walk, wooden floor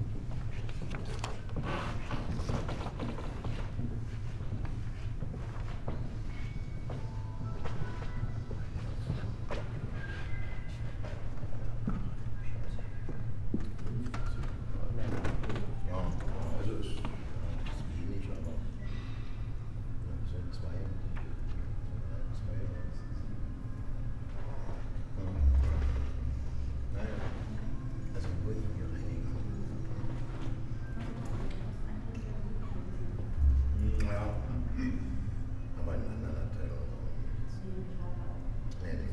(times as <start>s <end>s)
0.2s 15.6s